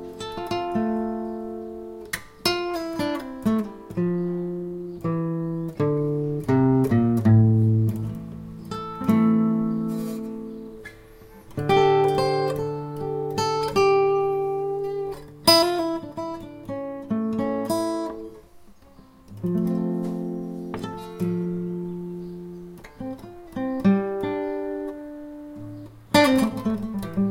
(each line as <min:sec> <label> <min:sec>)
0:00.0 improvise with my acoustic guitar 0:27.3